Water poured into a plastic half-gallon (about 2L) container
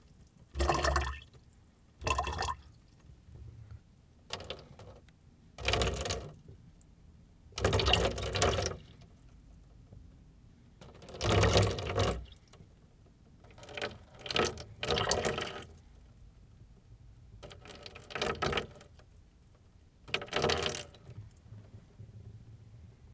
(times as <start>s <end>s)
0.1s 1.4s, 2.0s 3.0s, 5.6s 6.4s, 7.6s 9.0s, 10.8s 12.6s, 13.5s 15.8s, 17.4s 19.0s, 20.0s 21.3s